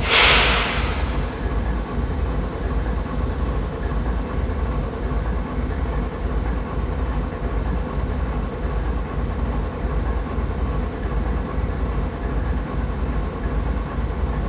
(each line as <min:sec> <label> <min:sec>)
0:00.0 Freight Engine 0:02.7